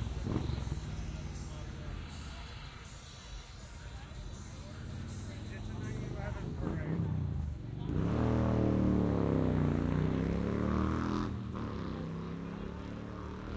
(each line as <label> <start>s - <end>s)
loud motorcycles streaming by revving their engines 0.0s - 3.1s
people talking 0.0s - 8.6s
cars 0.0s - 13.5s
crowd noise 0.0s - 13.5s
loud motorcycles streaming by revving their engines 4.2s - 13.5s
people talking 11.8s - 13.5s